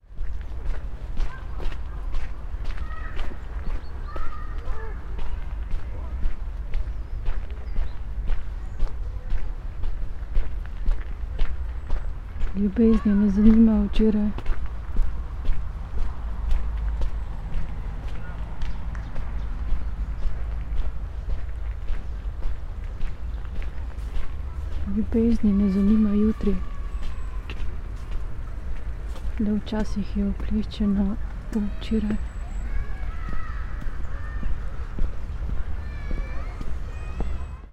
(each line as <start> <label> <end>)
0.0 distant voices of children playing 37.7
0.1 spoken words while walking 37.7
1.2 parents guarding them 6.5
12.5 parents guarding them 16.7
24.0 parents guarding them 37.7